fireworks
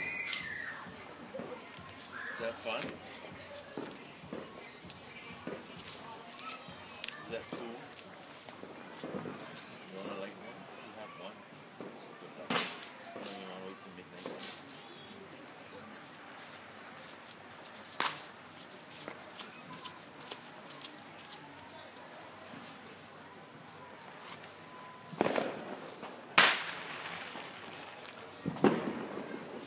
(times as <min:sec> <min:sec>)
0:00.0 0:07.8, 0:08.5 0:10.8, 0:11.7 0:15.1, 0:17.9 0:18.4, 0:24.1 0:29.6